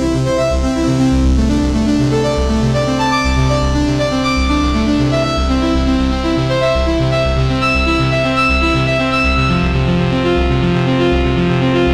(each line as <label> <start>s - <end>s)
Arpeggio melodies 0.0s - 11.9s